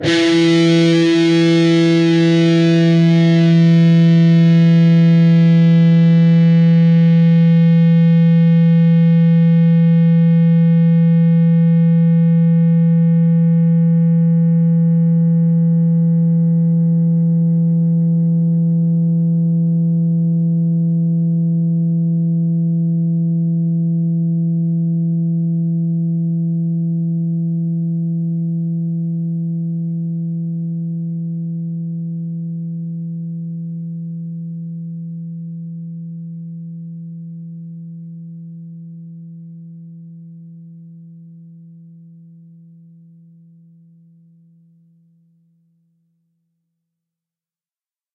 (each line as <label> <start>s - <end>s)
distorted guitar 0.0s - 29.7s